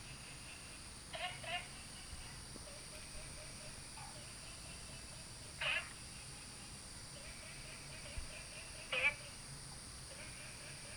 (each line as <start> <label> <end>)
0.0 Frogs chirping 10.9